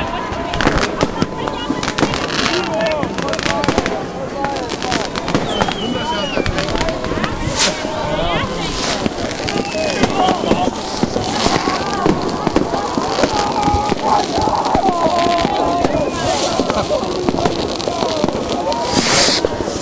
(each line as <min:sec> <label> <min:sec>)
0:00.0 shouting 0:19.2
0:00.0 Fireworks flying about, exploding in trees 0:19.8
0:00.0 cheering 0:19.8
0:00.0 crackers 0:19.8
0:04.4 snow drop on top of the Zoom H2 0:19.8